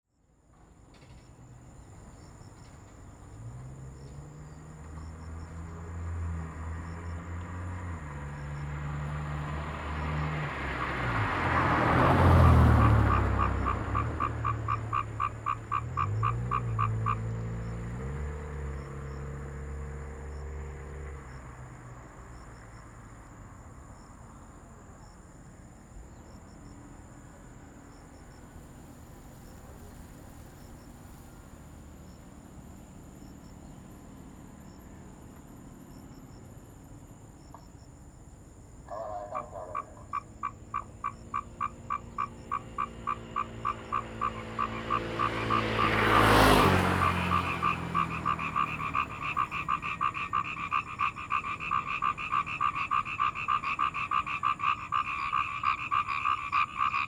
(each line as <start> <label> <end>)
0.4 Traffic Sound 57.0
1.2 Frogs sound 57.0